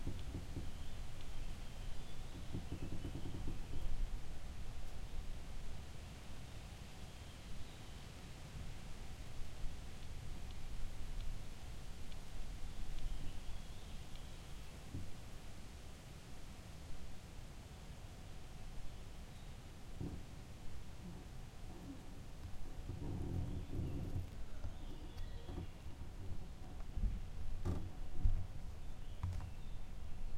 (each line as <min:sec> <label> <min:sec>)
0:00.0 gentle creaking 0:05.2
0:00.0 Background Noise 0:30.3
0:09.9 gentle creaking 0:15.5
0:19.9 gentle creaking 0:30.1